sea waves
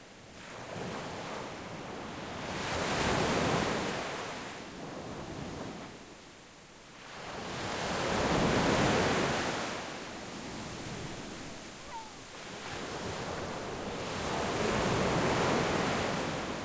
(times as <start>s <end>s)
7.0s 16.6s